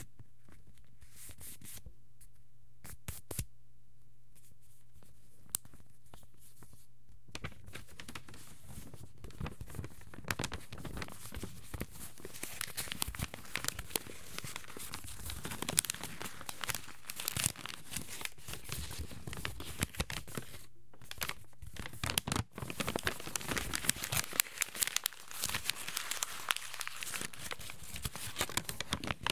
rumpling paper 0:05.4 - 0:29.3

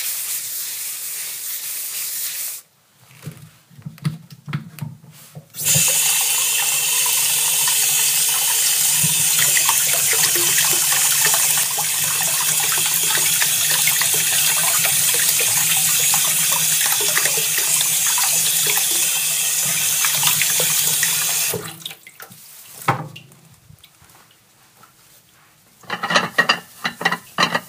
washing dishes 0:03.8 - 0:25.0
water 0:05.6 - 0:24.5
washing dishes 0:25.7 - 0:27.6

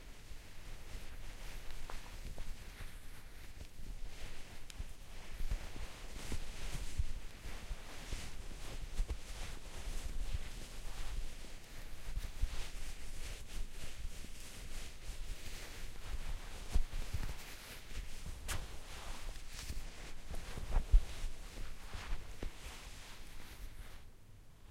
rustle.Scarf 0:00.8 - 0:24.1
scratch 0:07.9 - 0:24.1

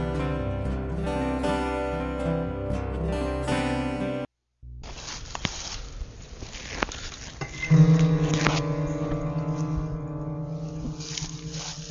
vocals 0:00.0 - 0:04.2

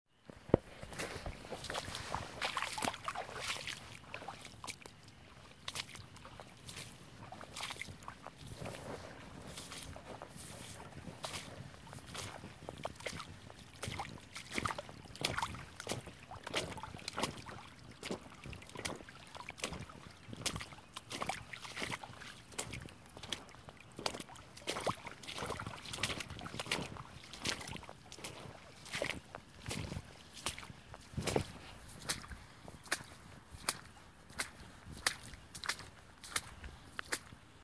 boots slapping against the water 0:00.2 - 0:37.6
brushing sounds of my clothing against the tall grass 0:00.4 - 0:04.6
brushing sounds of my clothing against the tall grass 0:05.3 - 0:16.7
brushing sounds of my clothing against the tall grass 0:25.4 - 0:37.3

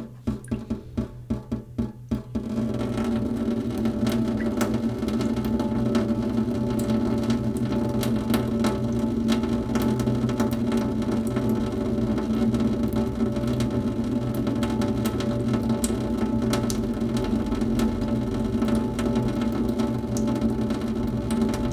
Water drops in metal sink 0:00.0 - 0:05.8
Water drops in metal sink 0:18.6 - 0:21.7

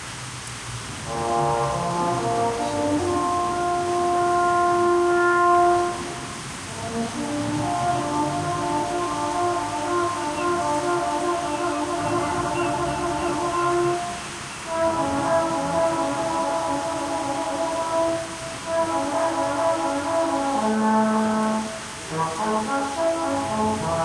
playing French Horn 0:00.8 - 0:24.0
overground trains passes by 0:05.9 - 0:18.6
overground trains passes by 0:21.8 - 0:24.0

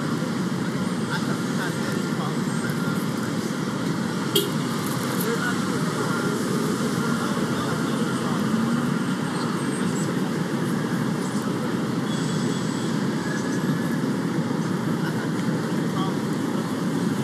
chatter 0:00.0 - 0:17.2
traffic 0:00.0 - 0:17.2

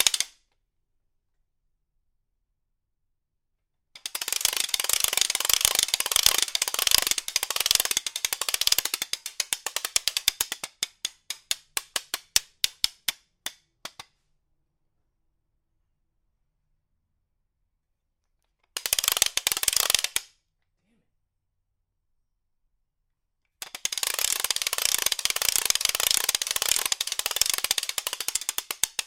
ratcheting noisemaker 0:00.0 - 0:00.4
ratcheting noisemaker 0:04.0 - 0:13.3
ratcheting noisemaker 0:18.7 - 0:20.3
ratcheting noisemaker 0:23.6 - 0:29.0

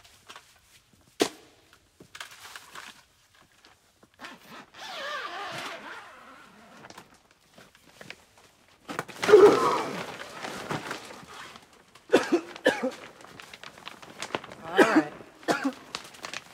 rustling 0:02.0 - 0:16.5
coughing 0:09.2 - 0:10.2
coughing 0:12.1 - 0:13.2
coughing 0:14.6 - 0:16.0

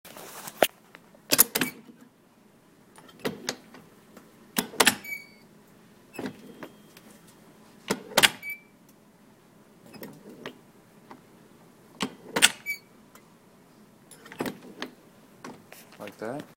squeak 0:05.0 - 0:05.4
squeak 0:08.4 - 0:08.7
squeak 0:12.5 - 0:12.9

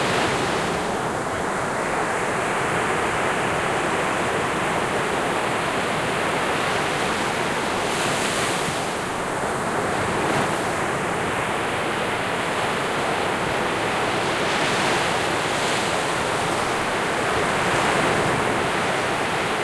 rolling surf 0:00.0 - 0:19.6
waves on the sand 0:00.0 - 0:19.6

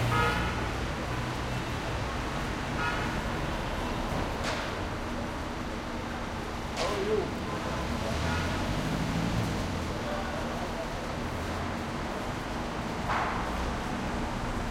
horn honks2 echo like tunnel 0:00.0 - 0:00.8
traffic 0:00.0 - 0:14.7

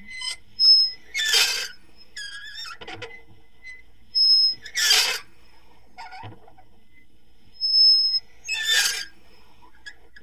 slow squeaks with a toy meat grinder 0:00.1 - 0:05.3
slow squeaks with a toy meat grinder 0:07.6 - 0:09.1

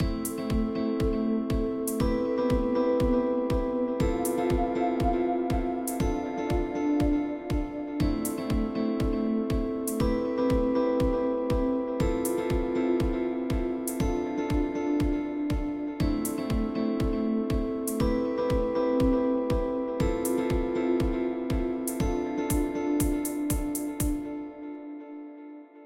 drums 0:00.0 - 0:24.3
guitar 0:00.0 - 0:25.8

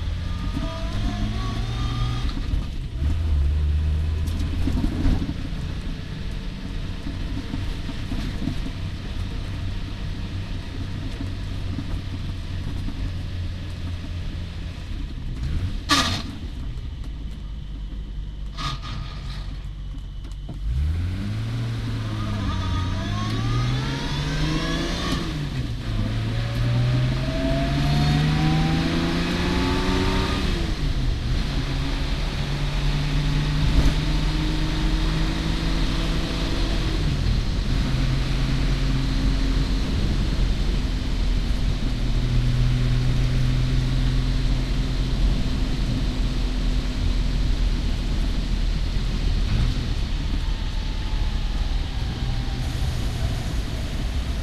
main car traveling sound 0:00.0 - 0:54.4
tires 0:00.0 - 0:54.4
car accident 0:15.3 - 0:17.0
car accident 0:18.4 - 0:20.8

